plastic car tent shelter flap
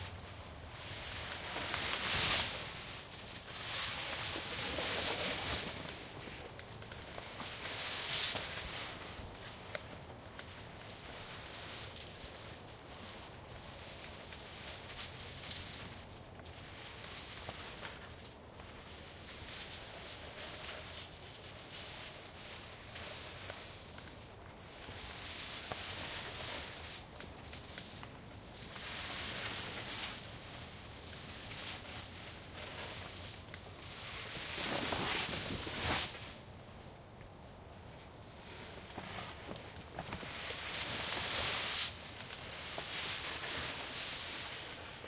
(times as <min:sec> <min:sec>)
0:33.9 0:36.4